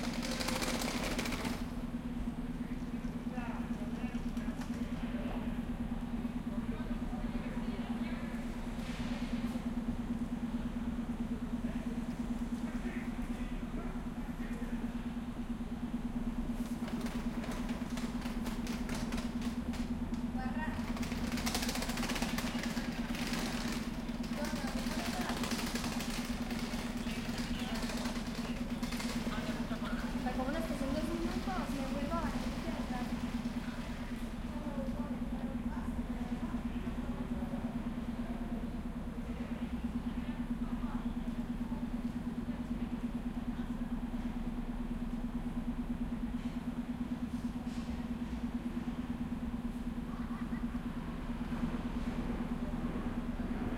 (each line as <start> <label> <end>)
0.0 bus 53.7
50.3 Train 53.7